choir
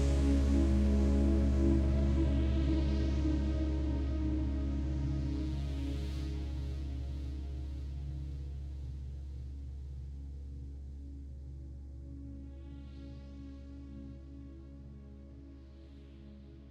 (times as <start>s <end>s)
0.0s 8.0s